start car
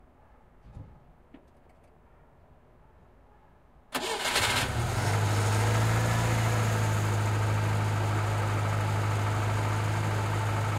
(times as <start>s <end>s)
3.9s 8.0s